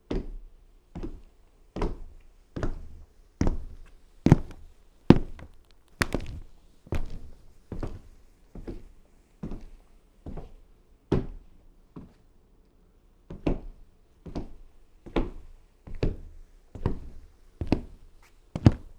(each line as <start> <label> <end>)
2.8 Work boots on wood floor 8.1
18.6 Work boots on wood floor 18.9